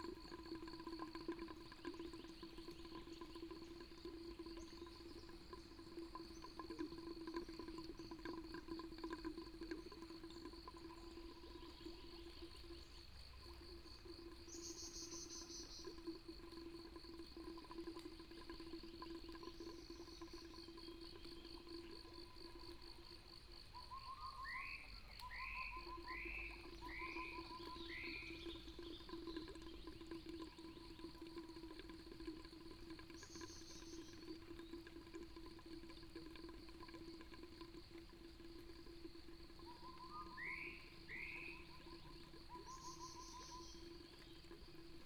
Water pipes 0.0 - 45.0
insects 0.0 - 45.0
Bird sounds 39.6 - 44.6

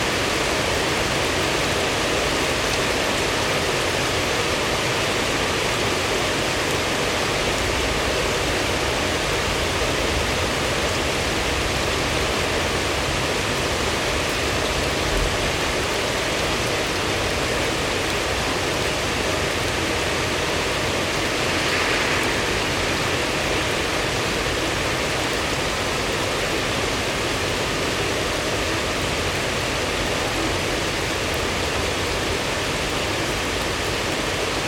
rain 0.0 - 34.6
thunders 20.8 - 25.5

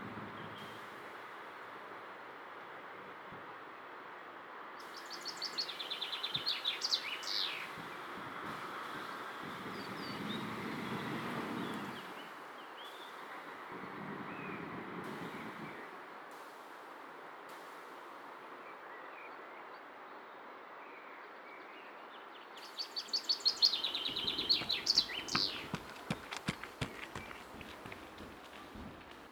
windy 0.0 - 20.6
windy 22.6 - 29.3
jogger on the path 23.8 - 29.3

